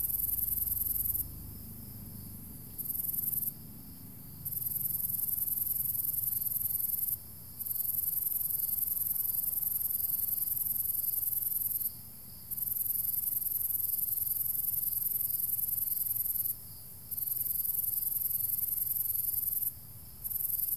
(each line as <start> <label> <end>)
0.0 Scorpion Cricket 20.7